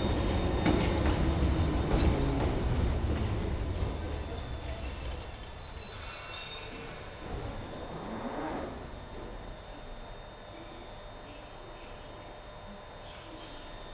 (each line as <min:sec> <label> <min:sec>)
0:00.0 train 0:13.9